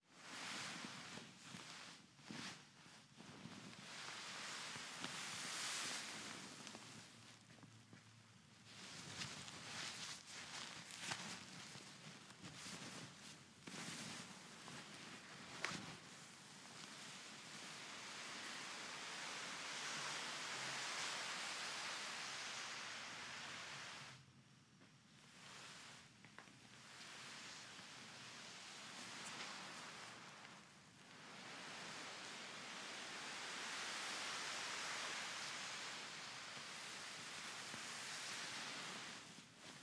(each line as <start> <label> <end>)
0.1 dragged a cloth tarp with sandbags on it 7.2
8.6 dragged a cloth tarp with sandbags on it 24.2
25.3 dragged a cloth tarp with sandbags on it 39.8